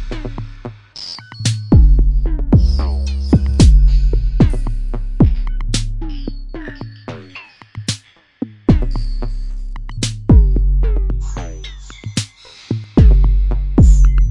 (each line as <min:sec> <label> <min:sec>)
0:00.0 drum 0:00.8
0:00.0 bass 0:07.4
0:00.0 synthesizer 0:14.3
0:01.4 drum 0:06.0
0:08.6 bass 0:14.3
0:08.7 drum 0:09.4
0:10.0 drum 0:11.5
0:12.2 drum 0:14.3